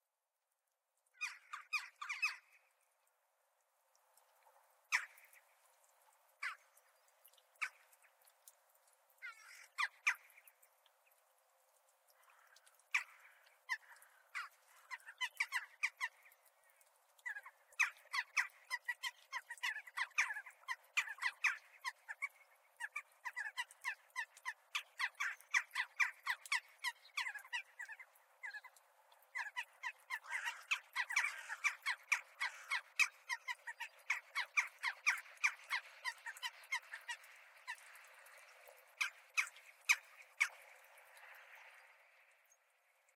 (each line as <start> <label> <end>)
29.4 Crows chattering 37.8